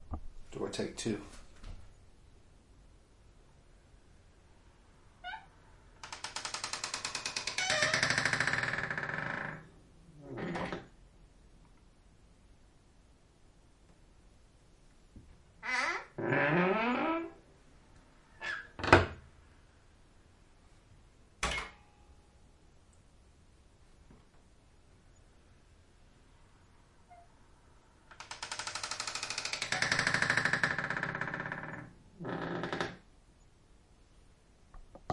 5.2s Door Creak 10.9s
15.6s Door Creak 17.4s
18.4s Door Creak 19.2s
27.1s Door Creak 27.3s
28.1s Door Creak 33.0s

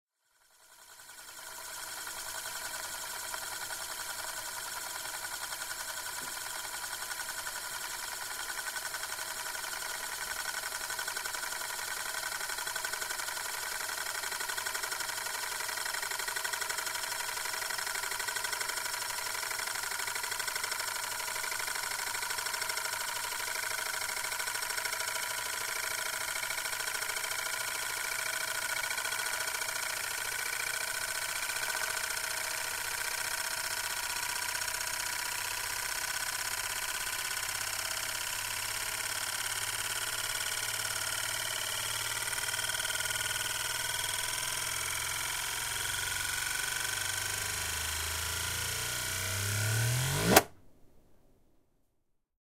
0.2s spinning Euler's disk 50.6s

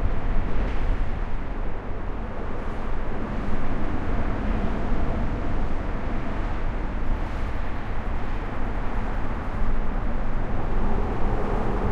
0.0s traffic 11.9s

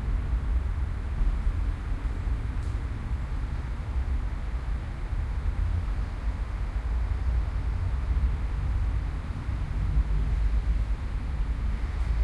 0.0s city noises 12.2s
3.4s City Traffic 12.2s

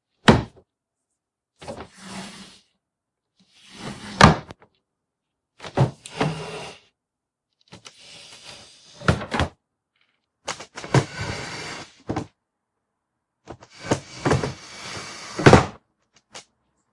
10.5s Creaky Wooden Drawers 12.3s
13.6s Creaky Wooden Drawers 15.7s

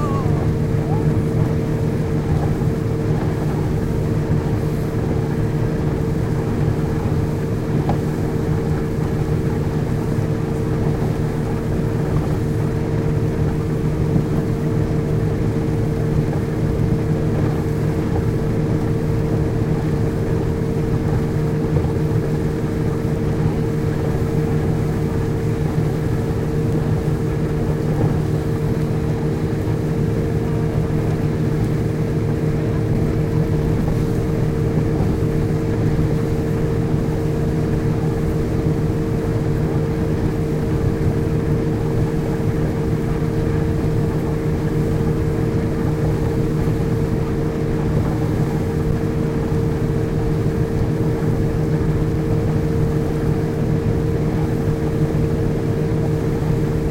0.0s outboard motor in a zodiac boat 56.9s
0.0s waves splashing 56.9s

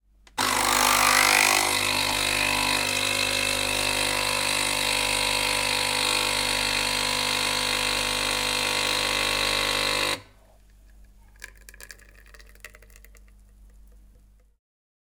0.3s nespresso-type machine 10.4s

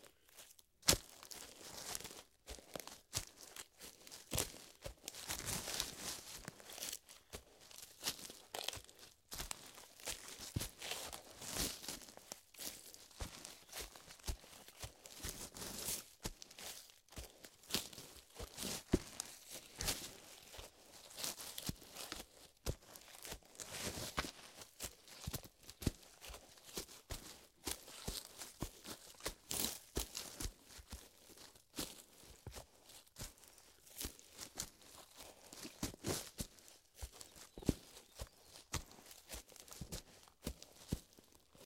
0.0s Men's dress shoes on leafy forest floor 41.6s

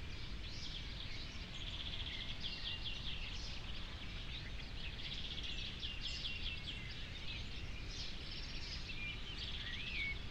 0.0s birds 10.3s

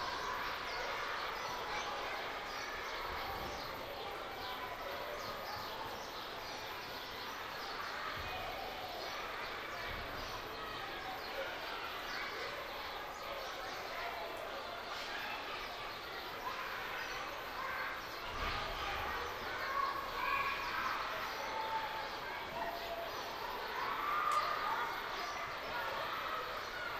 0.0s Kids playing 26.9s
0.0s birds 26.9s
23.7s screaming 26.9s

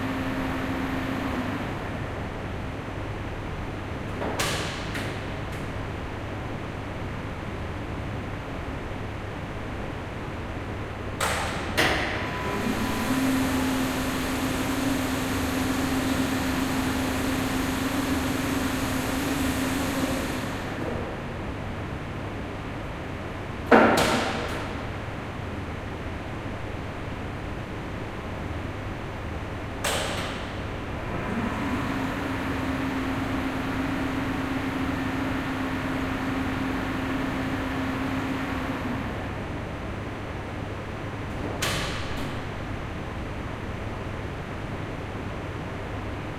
0.0s two motors for two lifts 2.1s
11.2s two motors for two lifts 21.0s
31.0s two motors for two lifts 39.6s

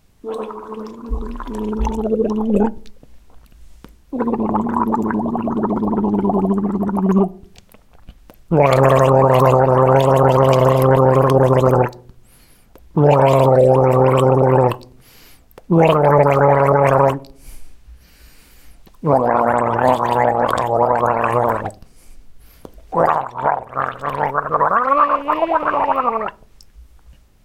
0.2s gargles 3.0s
4.1s gargles 7.5s
8.5s gargles 12.0s
12.9s gargles 14.9s
15.7s gargles 17.3s
19.0s gargles 21.8s
22.9s gargles 26.4s

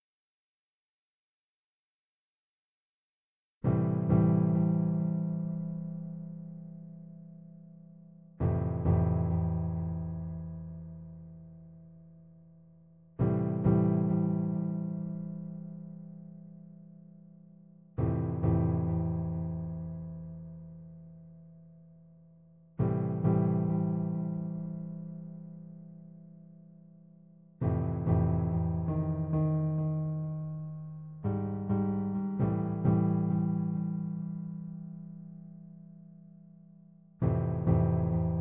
3.7s electric piano loop with echo 7.6s
8.3s electric piano loop with echo 11.4s
13.1s electric piano loop with echo 21.0s
22.7s electric piano loop with echo 26.3s
27.6s electric piano loop with echo 36.4s
37.0s electric piano loop with echo 38.4s

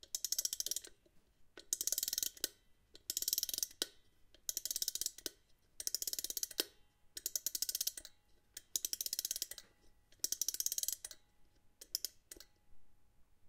0.0s music box spring mechanism wind-up 1.0s
1.6s music box spring mechanism wind-up 3.9s
4.5s music box spring mechanism wind-up 9.6s
10.2s music box spring mechanism wind-up 11.2s

